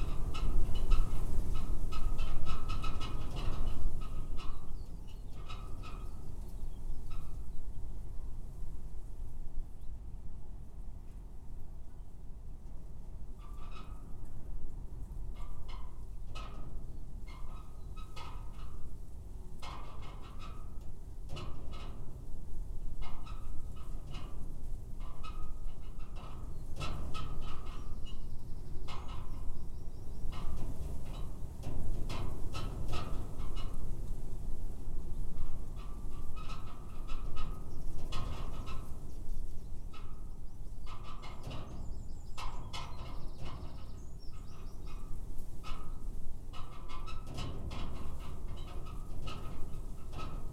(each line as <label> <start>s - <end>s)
winds gusting across field of Spring wheat 0.0s - 50.5s